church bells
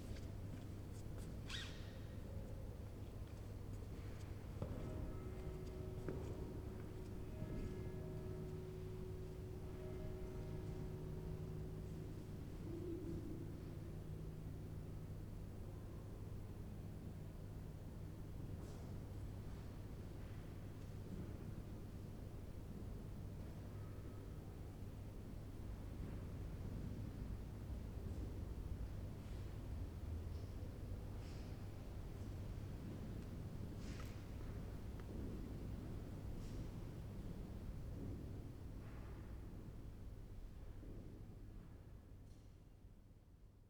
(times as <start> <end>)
4.6 17.1